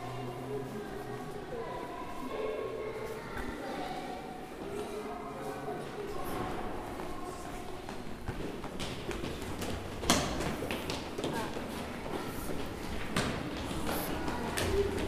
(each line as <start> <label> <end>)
6.2 Children climbing down the stairs 15.0